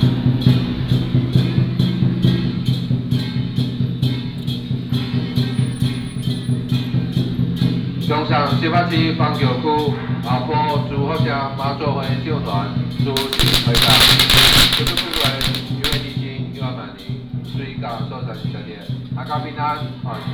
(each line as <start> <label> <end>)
13.2 True and false firecrackers sound 16.2